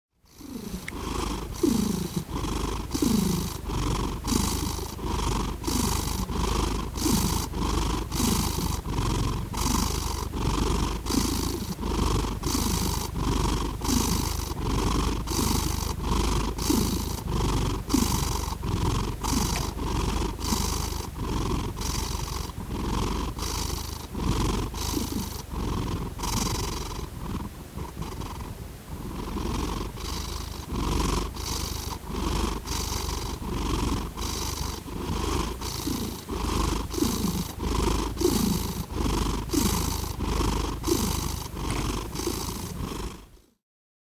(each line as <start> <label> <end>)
0.1 Purring Cat 43.6